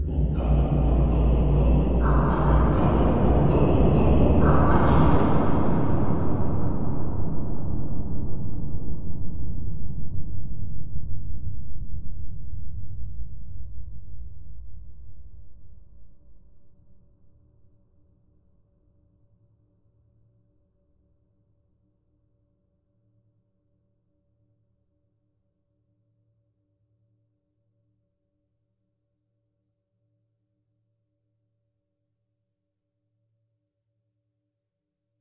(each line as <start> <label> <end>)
0.0 Cave Tribal song 9.1
0.0 Cave background sound 16.0